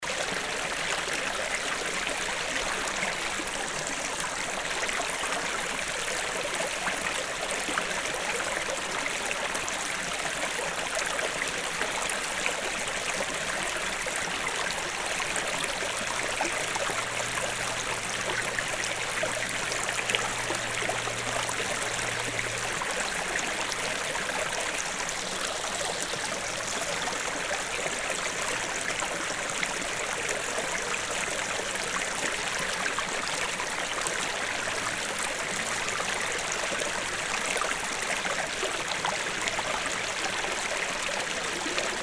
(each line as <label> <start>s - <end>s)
small stream 0.0s - 42.0s